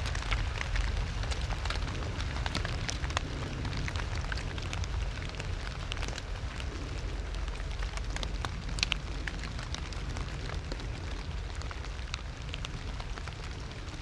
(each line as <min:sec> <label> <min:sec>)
0:00.0 Rain on crackly autumn leaves 0:14.0
0:00.0 ravens 0:14.0